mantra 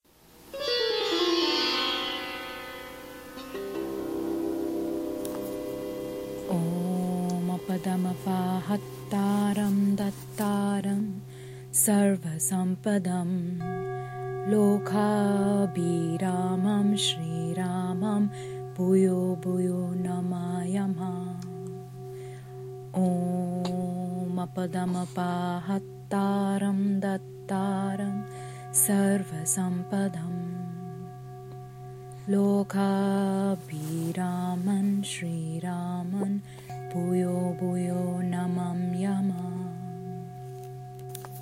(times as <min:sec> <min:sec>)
0:06.4 0:13.8, 0:14.4 0:21.8, 0:22.9 0:31.2, 0:32.2 0:40.4